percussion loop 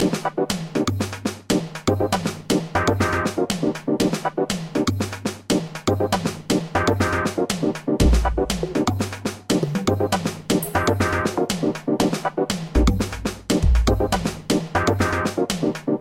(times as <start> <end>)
7.4 15.4